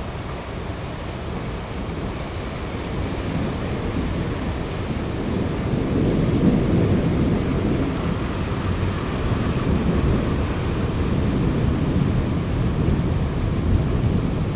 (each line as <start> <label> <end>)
0.0 Heavy rain 14.5
1.2 distant thunderstorm 14.5